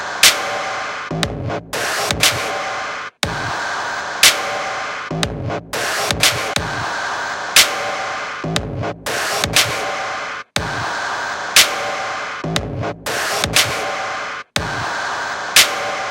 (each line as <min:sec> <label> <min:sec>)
0:00.0 Highly Processed Drum Beats 0:16.1